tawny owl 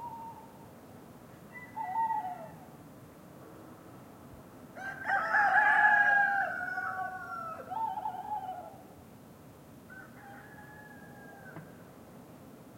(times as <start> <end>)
0.0 0.6, 1.5 2.7, 6.6 9.0